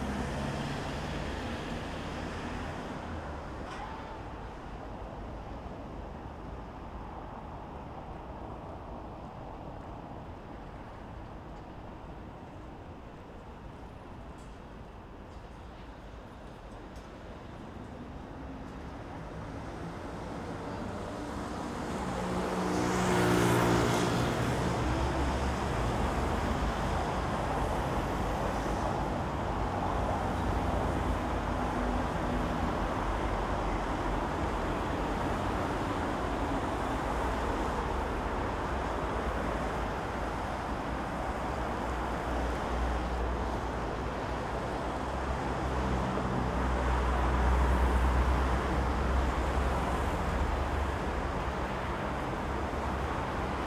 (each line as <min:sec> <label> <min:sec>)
0:00.0 traffic 0:53.6